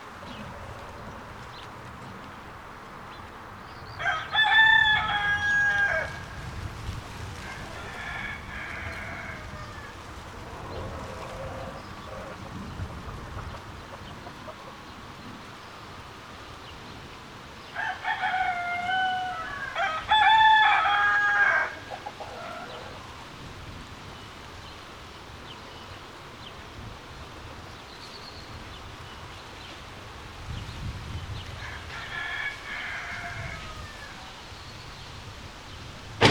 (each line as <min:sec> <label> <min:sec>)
0:00.0 chickens 0:16.8
0:17.6 chickens 0:23.5